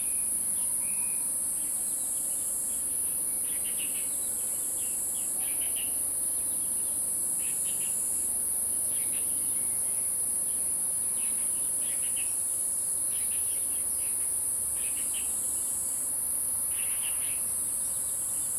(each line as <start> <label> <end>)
0.0 Insect sounds 18.5